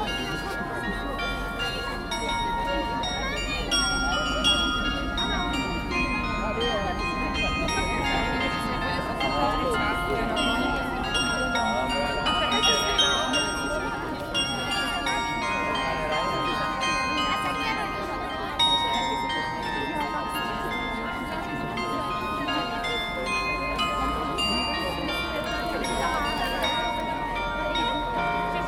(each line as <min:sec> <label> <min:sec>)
0:00.0 carillon 0:28.6